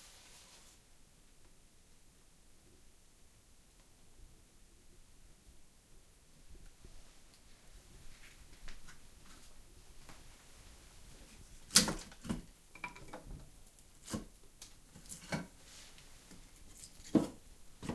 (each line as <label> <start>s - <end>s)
Preparing wood and paper 0.0s - 0.8s
Lighting fire in an old wood-heated stove 0.0s - 17.9s
Preparing wood and paper 7.0s - 17.9s